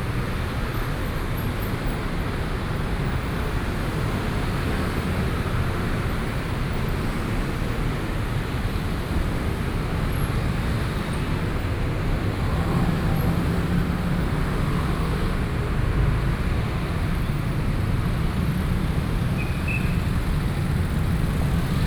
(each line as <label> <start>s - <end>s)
Traffic Sound 0.0s - 21.8s